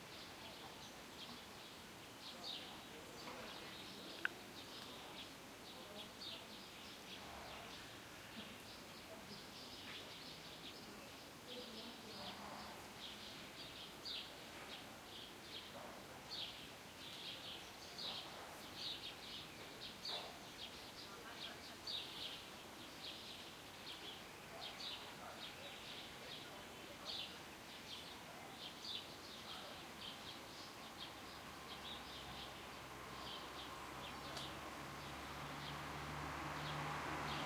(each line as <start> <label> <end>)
0.0 birds 37.4
0.0 distant voices 37.4
32.2 passing cars 37.4
33.0 loud big truck pass 37.4